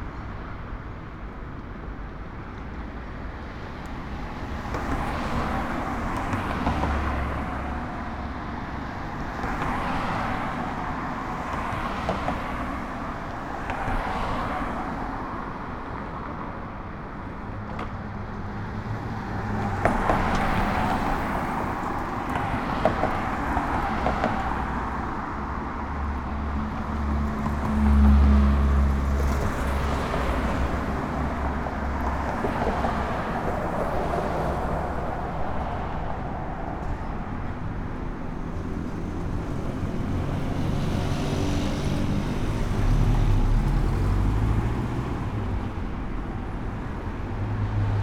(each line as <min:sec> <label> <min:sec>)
0:00.0 Traffic 0:48.0